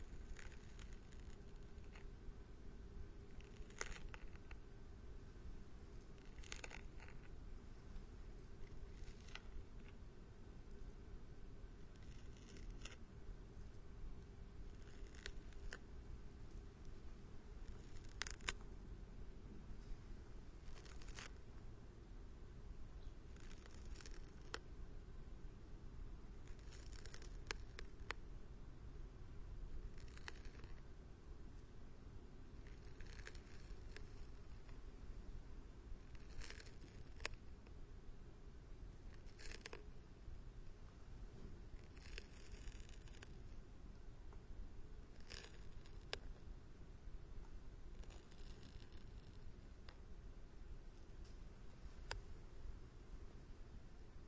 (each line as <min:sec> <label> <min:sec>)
0:00.0 snail munching 0:02.2
0:02.8 snail munching 0:04.7
0:06.0 snail munching 0:07.4
0:08.5 snail munching 0:10.1
0:11.8 snail munching 0:13.0
0:14.6 snail munching 0:18.7
0:20.6 snail munching 0:21.4
0:23.0 snail munching 0:24.7
0:26.4 snail munching 0:28.3
0:29.8 snail munching 0:30.8
0:32.5 snail munching 0:34.8
0:35.9 snail munching 0:37.8
0:39.0 snail munching 0:40.0
0:41.7 snail munching 0:43.6
0:45.0 snail munching 0:46.3